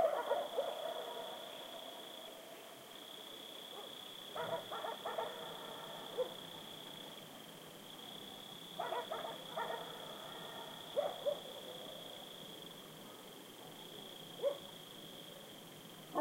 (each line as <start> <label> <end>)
0.0 dogs barking furiously 1.2
0.0 crickets 16.2
3.8 dogs barking furiously 5.5
6.1 dogs barking furiously 6.4
8.8 dogs barking furiously 11.5